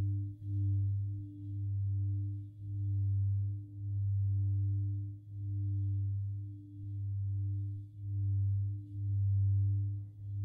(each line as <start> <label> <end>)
0.0 Singing Bowl 10.4